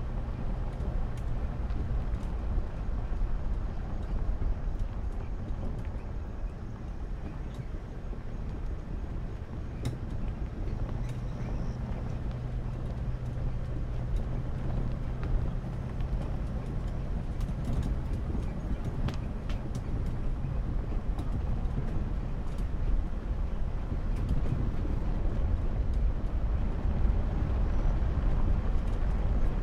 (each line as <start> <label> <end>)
0.0 Tires 29.6